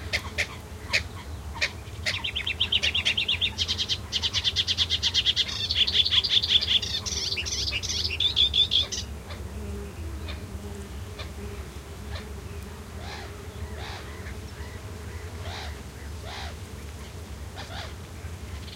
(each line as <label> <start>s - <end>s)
insect buzzings 0.0s - 18.7s
Melodious Warbler 0.3s - 11.4s
Common Coot 11.1s - 12.4s
Common Coot 13.0s - 16.6s
Common Coot 17.6s - 18.0s